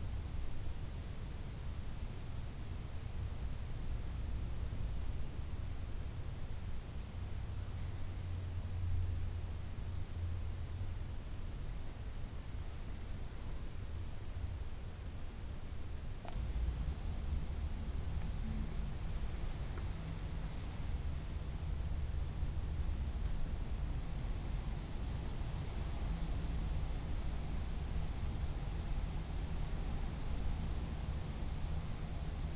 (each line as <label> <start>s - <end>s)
windy silence in a church 16.4s - 32.5s